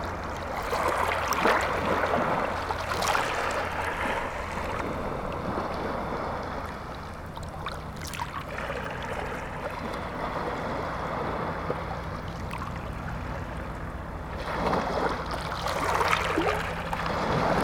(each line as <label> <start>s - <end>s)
sea 0.0s - 17.6s